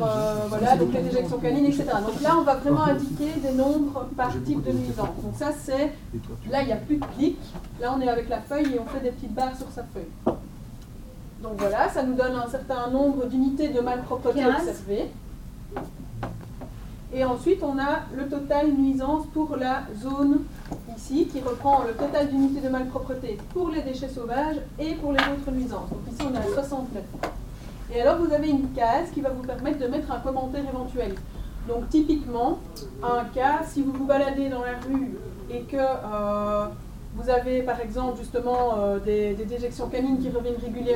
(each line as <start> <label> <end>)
0.0 teacher explains 7.3